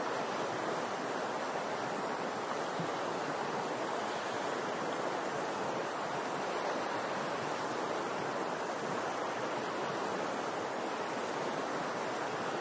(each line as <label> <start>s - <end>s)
lake 0.0s - 12.6s